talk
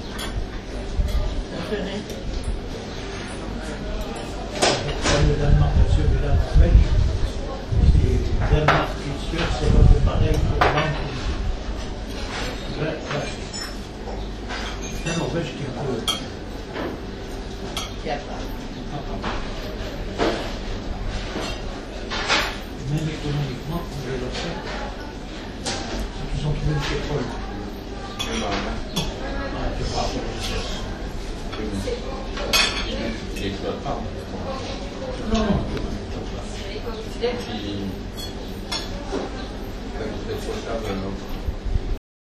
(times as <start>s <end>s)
22.8s 41.4s